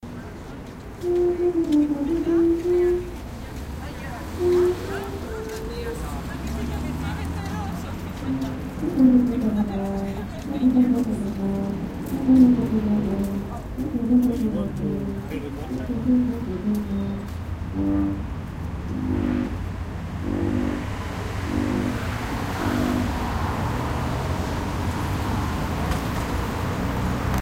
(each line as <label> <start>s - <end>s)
cars passing 0.1s - 27.4s
tuba player practises 1.0s - 3.2s
voice 3.8s - 11.6s
tuba player practises 4.4s - 5.3s
tuba player practises 8.2s - 23.2s
voice 12.2s - 17.0s